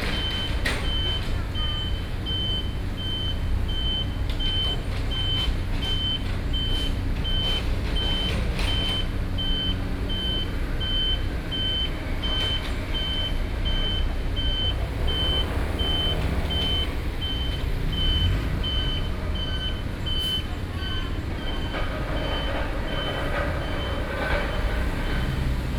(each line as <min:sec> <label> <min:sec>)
0:00.0 Road construction 0:25.7